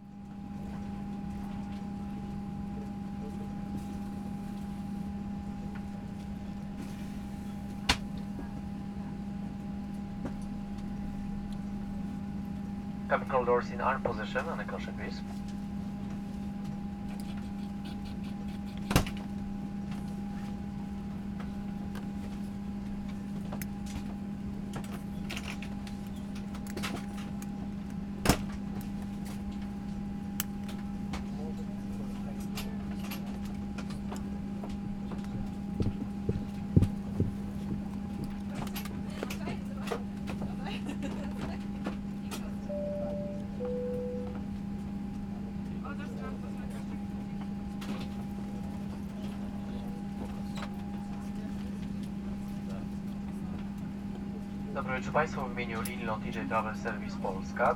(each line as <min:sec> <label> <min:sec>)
0:13.1 gushing jet engines 0:15.3
0:13.1 pilot greets the passengers 0:15.3